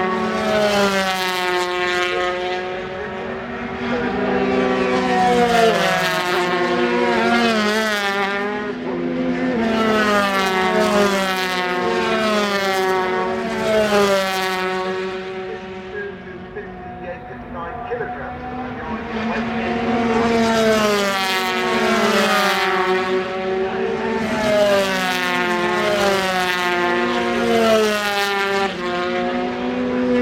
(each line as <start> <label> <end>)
0.0 British Motorcycle Grand Prix 30.2
2.0 commentary 5.0
14.8 commentary 21.1